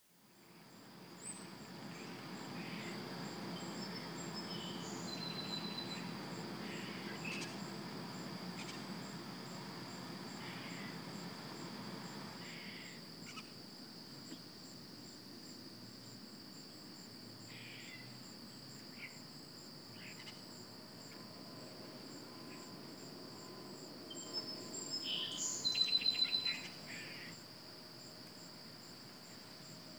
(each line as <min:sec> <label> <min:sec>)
0:01.3 Song Sparrow ramps up its singing 0:09.5
0:24.1 Song Sparrow ramps up its singing 0:26.8